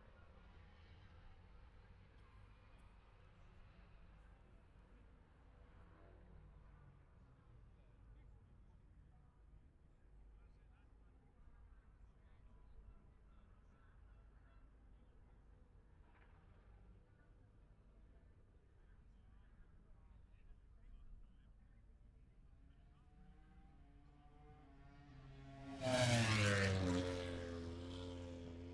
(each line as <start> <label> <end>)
22.7 moto grand prix free practice 28.7